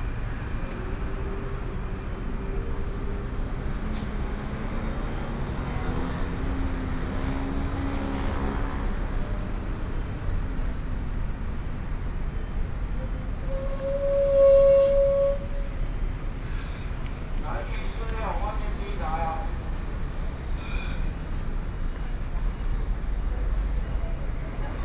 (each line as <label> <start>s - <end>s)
Traffic Noise 0.0s - 24.8s